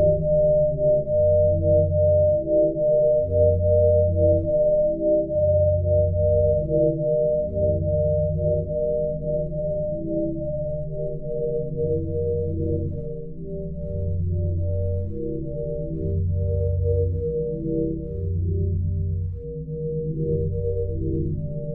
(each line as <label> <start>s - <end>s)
sine waves 0.0s - 21.7s